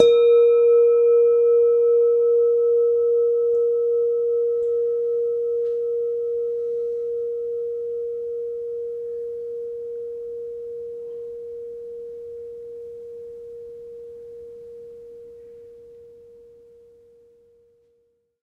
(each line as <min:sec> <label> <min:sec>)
0:00.0 Semi tuned bell tones 0:17.8